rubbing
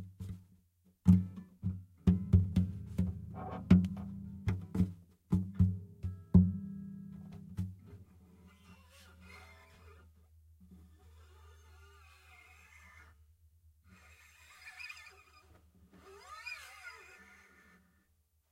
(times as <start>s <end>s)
13.9s 17.8s